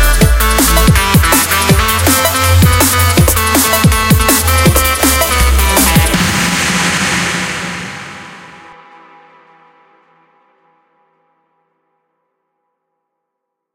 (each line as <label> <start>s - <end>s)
bass 0.0s - 8.8s
pads 2.1s - 8.7s